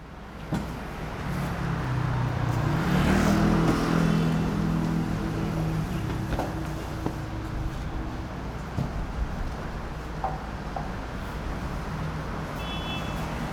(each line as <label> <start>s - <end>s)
Traffic Sound 0.0s - 13.5s